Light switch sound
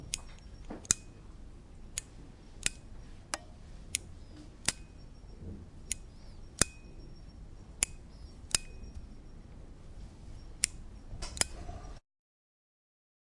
0.1s 1.2s, 1.9s 5.0s, 5.8s 6.9s, 7.8s 9.2s, 10.6s 11.6s

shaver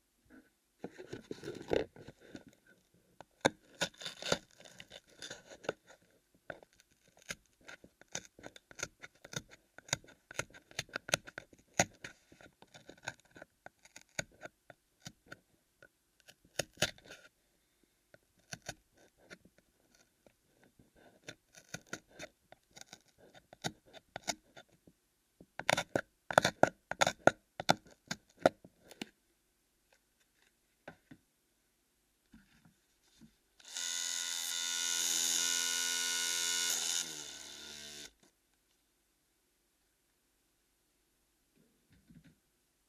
33.6s 38.2s

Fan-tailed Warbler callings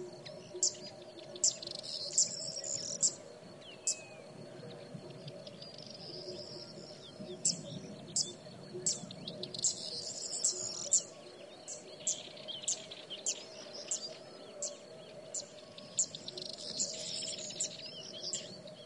6.9s 18.8s

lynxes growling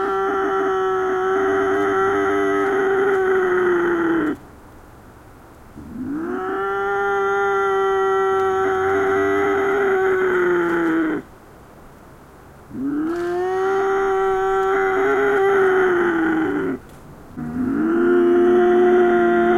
5.8s 11.3s, 12.7s 16.8s, 17.4s 19.5s

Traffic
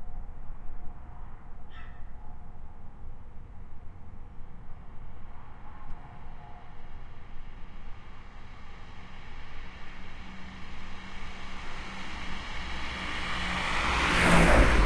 3.1s 14.8s

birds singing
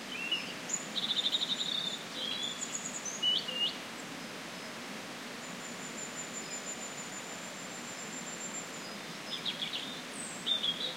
0.1s 3.8s, 7.9s 10.9s

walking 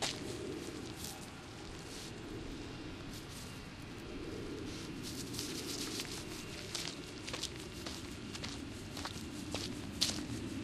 0.0s 2.1s, 5.1s 10.6s

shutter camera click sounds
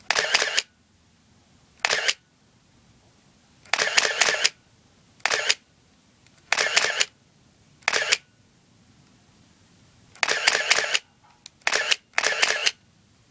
0.0s 0.7s, 1.8s 2.2s, 3.6s 4.6s, 5.2s 5.6s, 6.3s 7.2s, 7.8s 8.3s, 10.2s 12.8s

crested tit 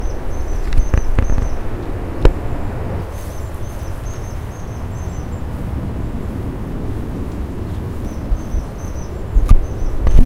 0.0s 2.4s, 3.1s 5.5s, 8.0s 10.2s

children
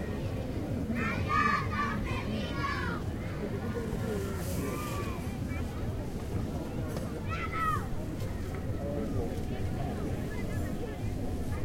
0.0s 8.8s

